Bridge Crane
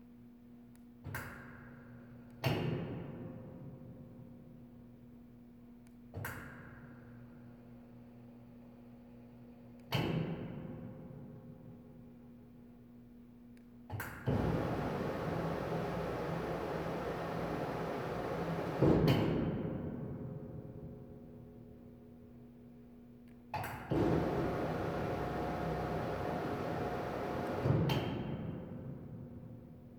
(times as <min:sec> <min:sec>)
0:14.4 0:18.8, 0:24.0 0:27.7